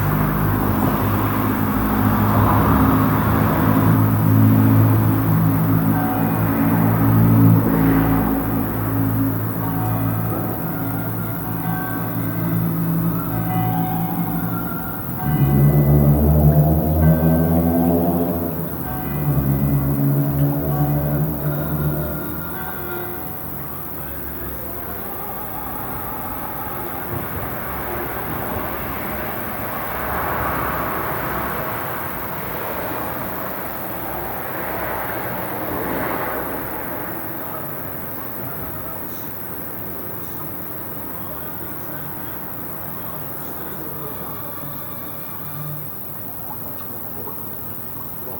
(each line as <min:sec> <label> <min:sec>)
0:00.0 church bells 0:46.4
0:00.0 Unidentified orthoptera 0:48.3
0:00.0 passing cars 0:48.3
0:00.0 small canal 0:48.3
0:00.0 voices 0:48.3
0:21.6 radio/tv opera 0:28.3